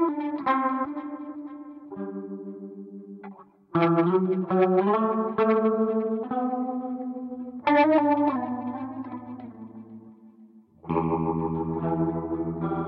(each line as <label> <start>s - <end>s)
guitar 0.0s - 12.8s